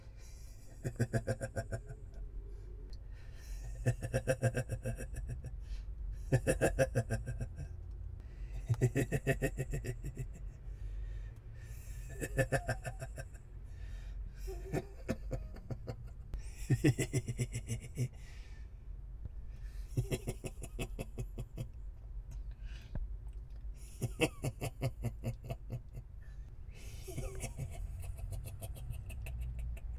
male evil giggle 0:00.6 - 0:02.0
male evil giggle 0:06.3 - 0:07.7
male evil giggle 0:08.6 - 0:10.6
male evil giggle 0:12.1 - 0:13.3
male evil giggle 0:14.4 - 0:18.2
male evil giggle 0:20.0 - 0:21.7
male evil giggle 0:23.8 - 0:26.0
male evil giggle 0:26.8 - 0:29.9

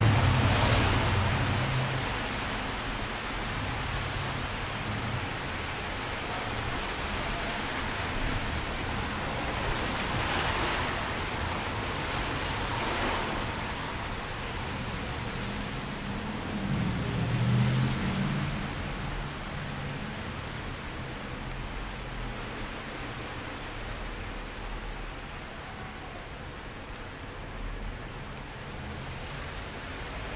Moderate Traffic & Wet Road 0:00.0 - 0:30.3
rain 0:00.0 - 0:30.3

